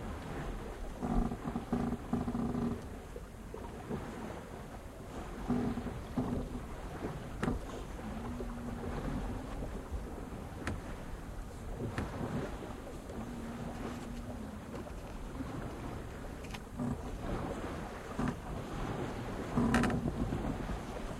Dhow sailing on Indian Ocean 0.0 - 21.1
Waves 0.0 - 21.1

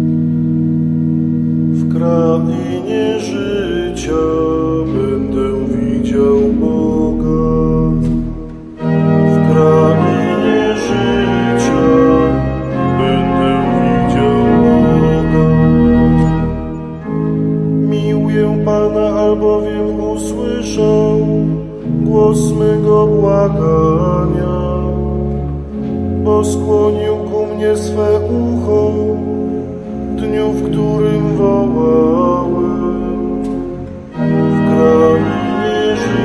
psalm 0.0 - 36.2

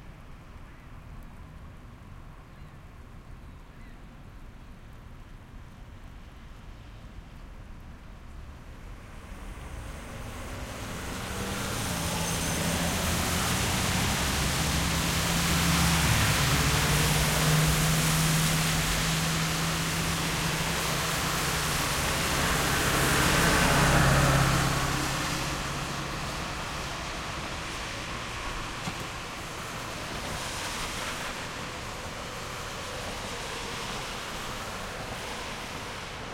rain 0.0 - 36.3
trucks 8.2 - 36.3
cars 8.4 - 36.3

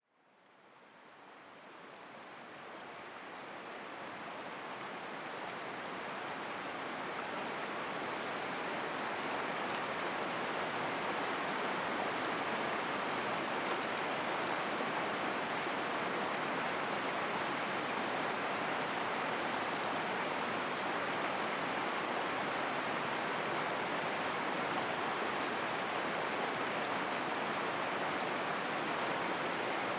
Glacial river 0.7 - 29.9

